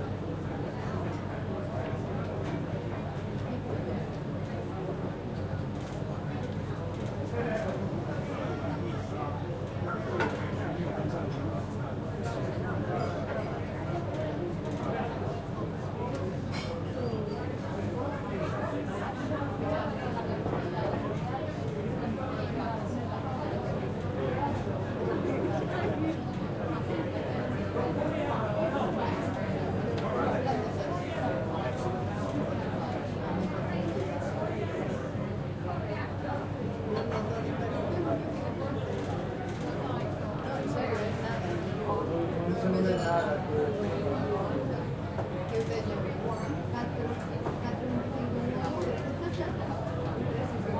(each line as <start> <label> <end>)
0.0 crowd 50.7